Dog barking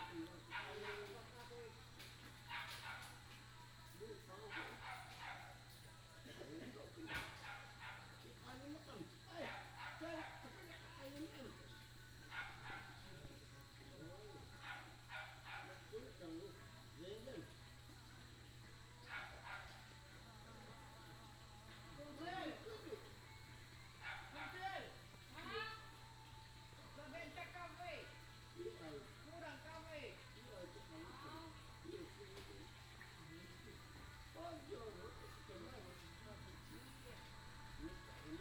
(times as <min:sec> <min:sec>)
0:00.0 0:01.3, 0:02.5 0:03.2, 0:04.4 0:05.6, 0:07.0 0:08.2, 0:09.4 0:10.6, 0:12.3 0:13.0, 0:14.6 0:16.0, 0:19.0 0:19.9, 0:24.0 0:24.7